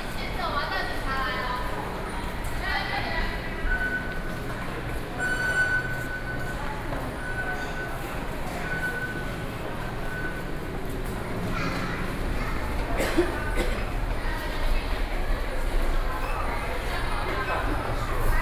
Waiting for the train 0:00.0 - 0:18.4
walking in the MRT station 0:00.0 - 0:18.4

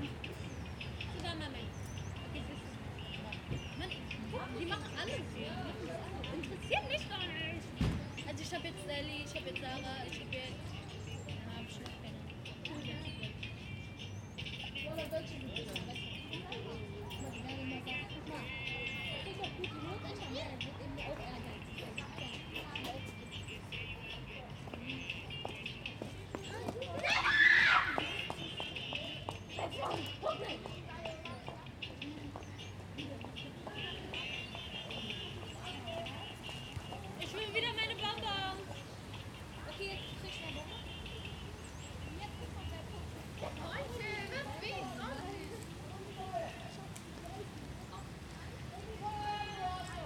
Teenagers in the backyard, hanging around 0:00.0 - 0:50.0
teenagers play their own music via smartphone 0:00.0 - 0:50.0
radio playing in the backyard 0:28.2 - 0:50.0

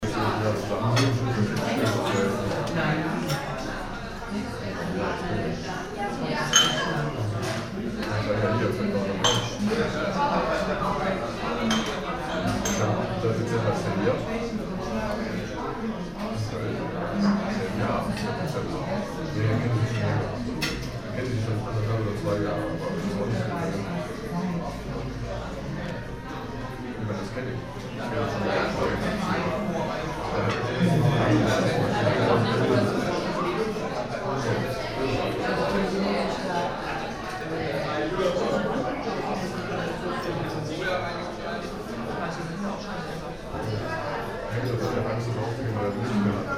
people 0:00.0 - 0:46.5

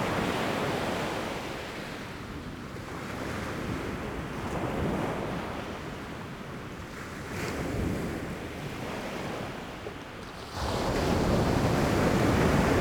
Peacefull waves during the high tide 0:00.0 - 0:12.8

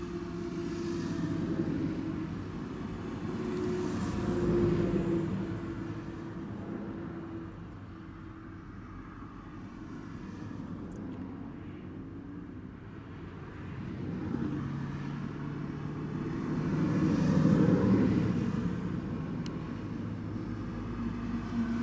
road noise 0:00.0 - 0:21.8

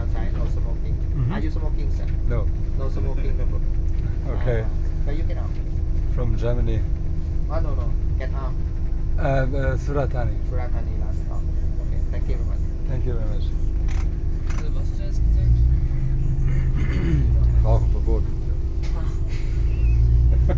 conductor is explaning something 0:12.7 - 0:13.6

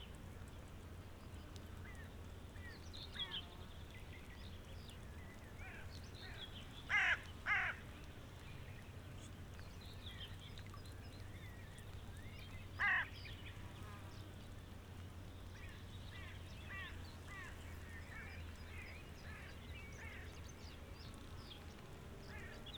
crows 0:06.9 - 0:07.8
crows 0:12.8 - 0:13.1

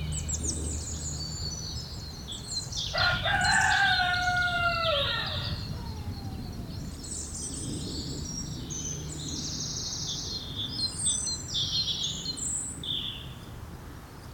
farmyard animals 0:02.8 - 0:07.0

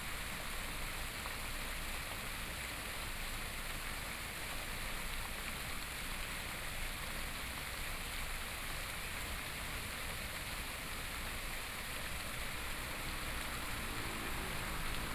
Fountain 0:00.0 - 0:15.1
Traffic Sound 0:11.2 - 0:15.1

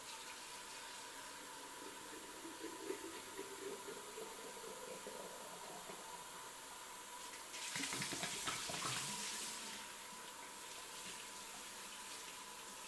Water sound 0:00.0 - 0:12.8
sink sound 0:00.0 - 0:12.8
Dish washing 0:07.5 - 0:09.7

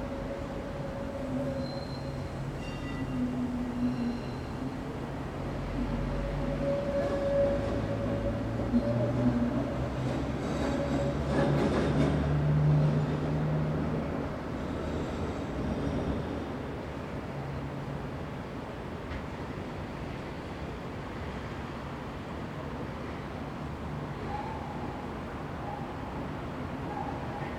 boats 0:00.0 - 0:27.5
elevated train 0:00.0 - 0:27.5
trams (with their squeaking wheels) 0:00.0 - 0:27.5

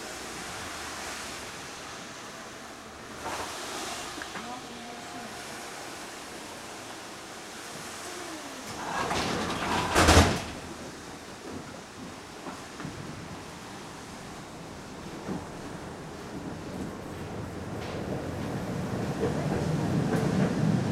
tram 0:00.0 - 0:20.9

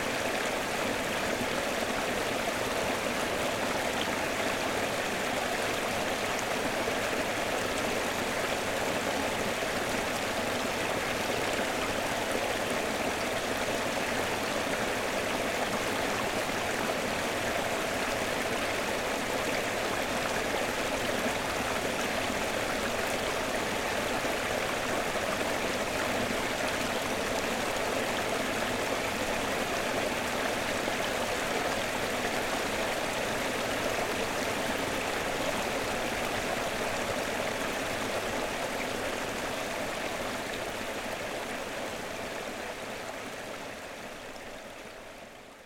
stream 0:00.0 - 0:45.6

